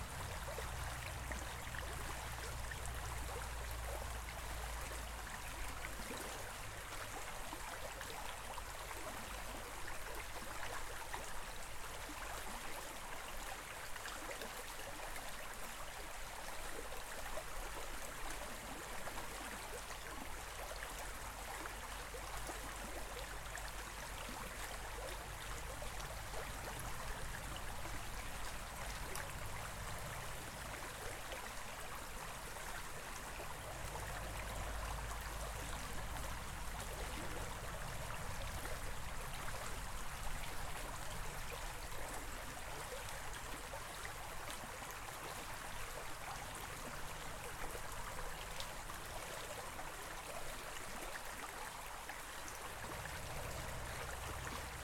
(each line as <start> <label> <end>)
0.0 gently flowing Caol stream 54.8